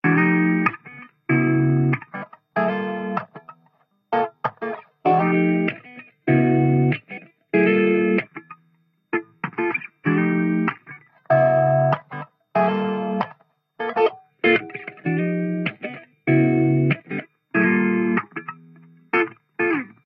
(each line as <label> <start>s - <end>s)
Funky Soul Acid Guitar 0.0s - 3.6s
Funky Soul Acid Guitar 4.2s - 8.6s
Funky Soul Acid Guitar 9.2s - 20.0s